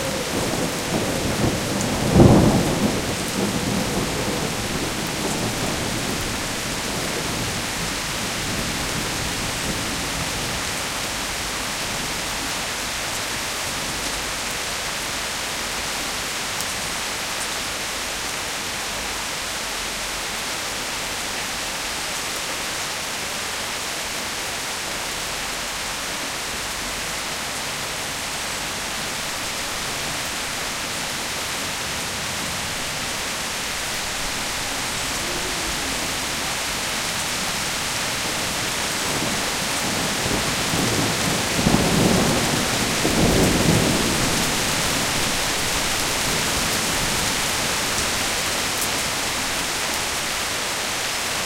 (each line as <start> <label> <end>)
0.0 thunderstorm 12.3
28.9 thunderstorm 50.2